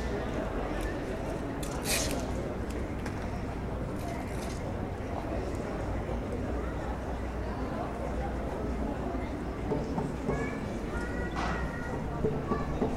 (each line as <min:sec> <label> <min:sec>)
0:00.0 bunch of vagrants gathering 0:12.9
0:03.8 little boy is busking 0:12.9